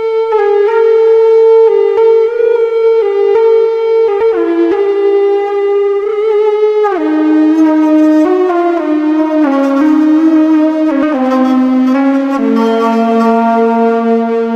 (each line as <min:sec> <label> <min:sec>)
0:06.0 bowed with a ebow 0:14.5